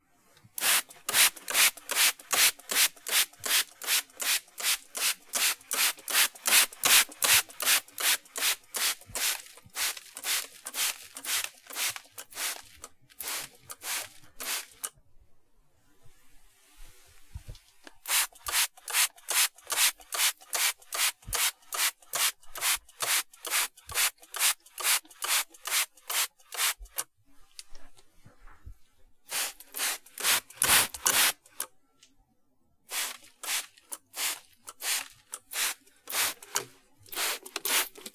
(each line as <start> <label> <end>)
0.6 spray bottle 14.9
17.9 spray bottle 27.0
29.3 spray bottle 31.7
32.9 spray bottle 38.1